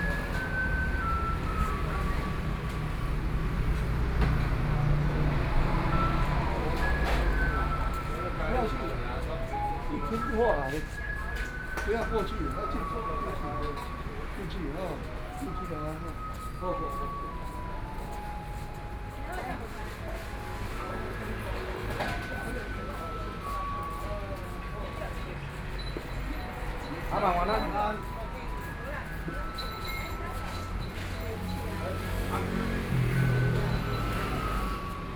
0.0s Traffic Sound 35.1s

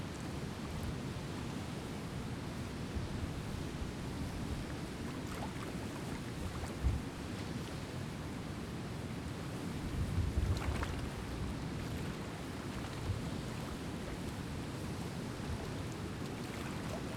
4.3s water lapping against the rocks 7.8s
9.7s water lapping against the rocks 17.1s

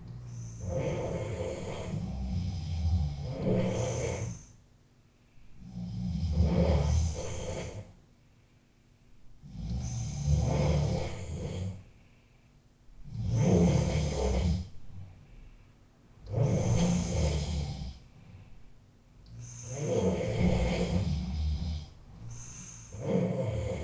0.0s Snoring concert 4.6s
5.6s Snoring concert 8.0s
9.4s Snoring concert 11.9s
13.0s Snoring concert 15.2s
16.2s Snoring concert 18.1s
19.3s Snoring concert 23.8s

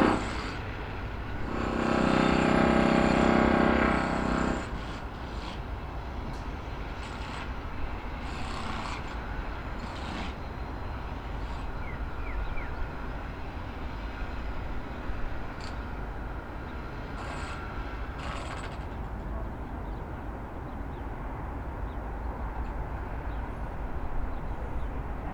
0.0s surge of drill rattle 0.6s
1.4s surge of drill rattle 5.1s
17.2s surge of drill rattle 18.9s

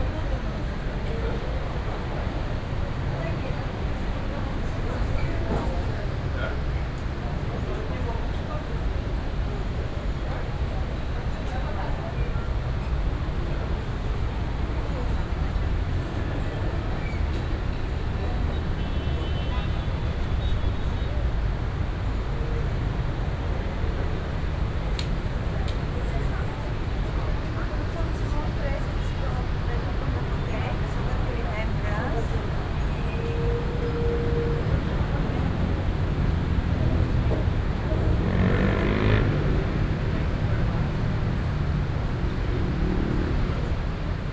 0.0s traffic 44.3s
3.1s people talking 21.5s
25.0s people talking 41.6s

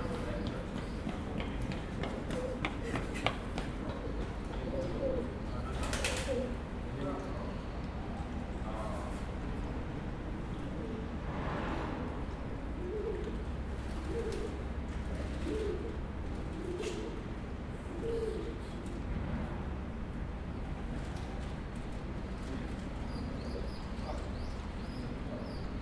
0.0s distant chatting 11.2s
12.8s baby pigeons 17.2s

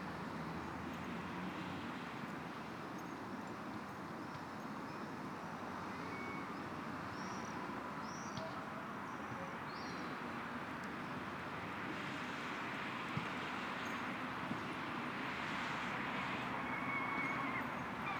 10.4s Traffic 18.1s

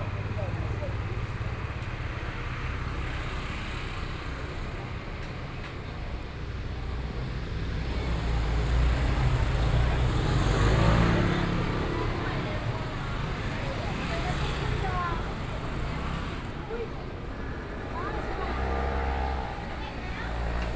0.0s Traffic Sound 20.7s

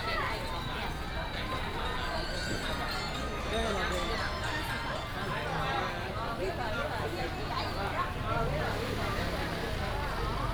8.0s traffic sound 10.5s

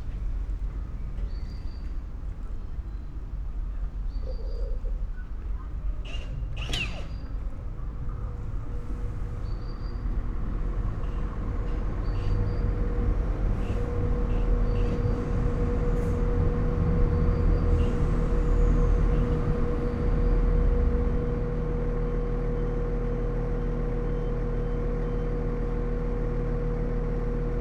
0.0s 2 trains arrive and leave 27.6s
5.4s Workmen are refurbishing the old victorian canopy 19.9s

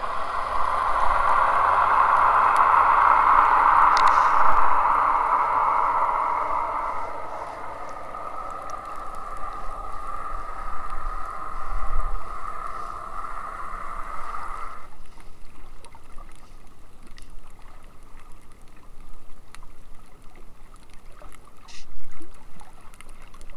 0.0s distant engines 14.9s

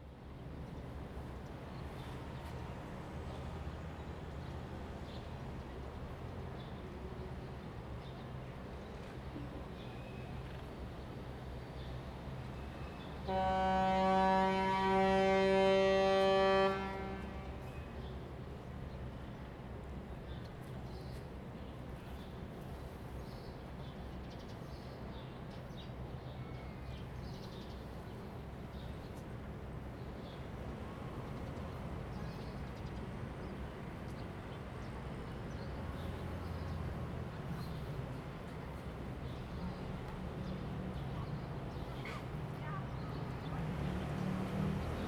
0.1s Cruises and Yachts 45.0s

